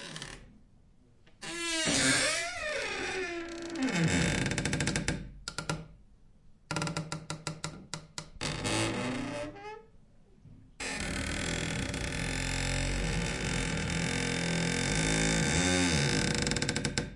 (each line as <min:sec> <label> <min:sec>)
0:01.4 wood door closet cabinet armoir open close creak 0:05.0